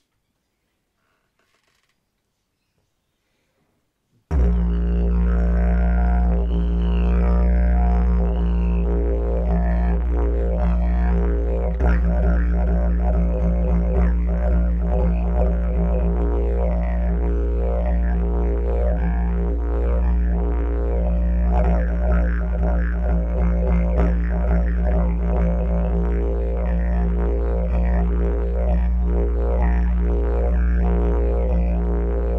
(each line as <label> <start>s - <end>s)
Didgeridoo 4.3s - 32.3s